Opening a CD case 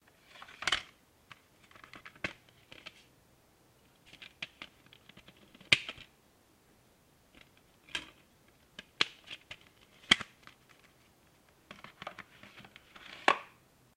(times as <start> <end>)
8.8 10.9